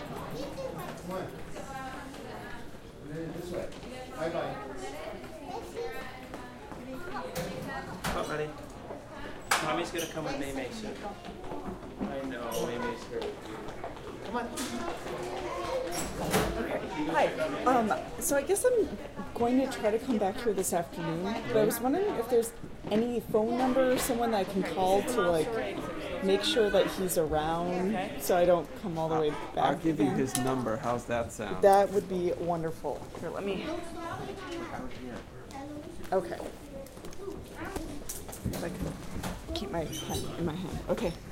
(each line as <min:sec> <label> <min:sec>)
0:00.0 children 0:01.3
0:04.7 children 0:08.0
0:05.2 People entering 0:29.5
0:11.1 children 0:18.2
0:33.6 children 0:40.4